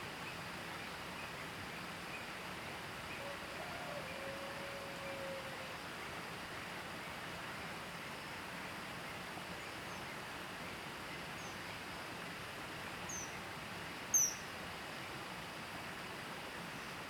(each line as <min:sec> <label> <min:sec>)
0:04.6 Stream sound 0:17.0